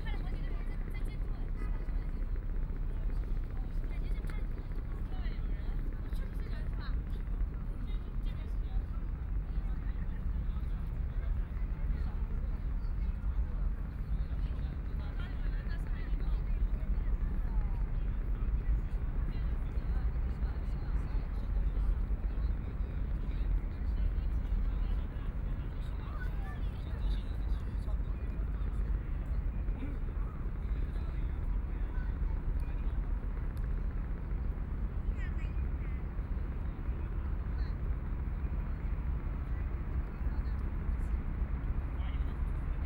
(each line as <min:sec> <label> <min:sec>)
0:00.0 Many tourists 0:42.8